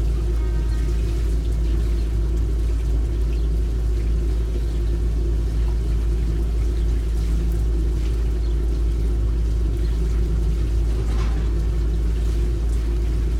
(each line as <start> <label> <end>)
0.0 Horn from nearby diesel train 1.6
0.0 rumbling from the water wheel 13.3
0.0 sump pump 13.3
0.0 water hitting the blades 13.3